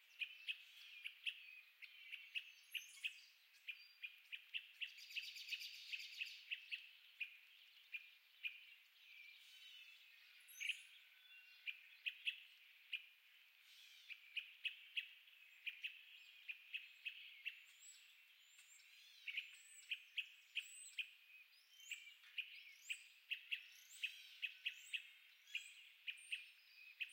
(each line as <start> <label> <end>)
0.0 birds 27.1